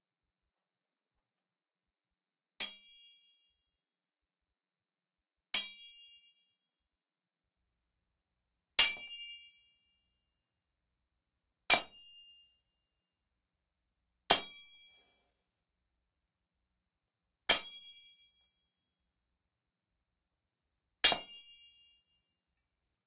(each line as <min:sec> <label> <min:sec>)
0:02.6 machete fight hit sword metallic metal 0:03.3
0:08.8 machete fight hit sword metallic metal 0:09.6
0:11.7 machete fight hit sword metallic metal 0:12.4
0:14.3 machete fight hit sword metallic metal 0:14.9
0:17.5 machete fight hit sword metallic metal 0:18.2
0:21.0 machete fight hit sword metallic metal 0:22.0